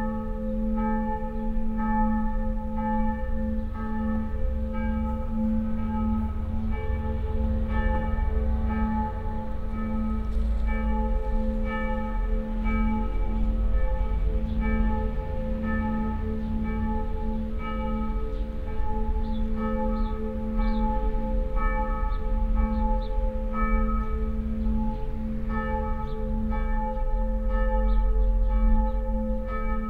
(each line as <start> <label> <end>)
0.0 church bells 29.8